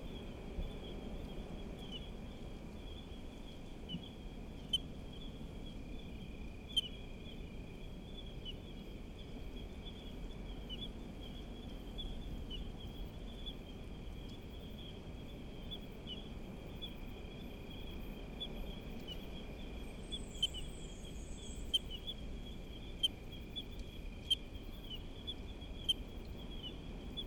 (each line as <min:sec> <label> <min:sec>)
0:00.0 Night cicadas 0:27.2
0:00.0 other creatures of the night 0:27.2